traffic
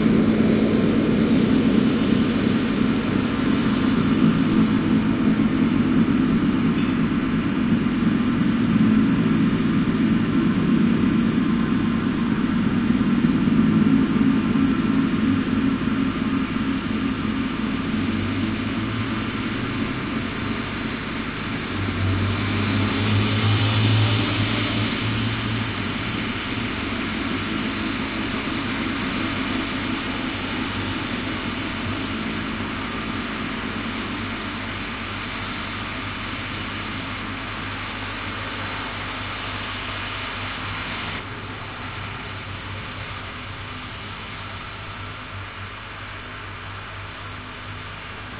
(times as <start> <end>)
17.9 48.3